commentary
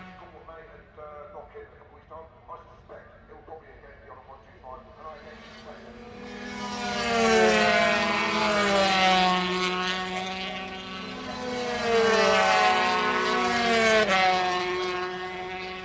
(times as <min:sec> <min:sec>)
0:00.0 0:08.9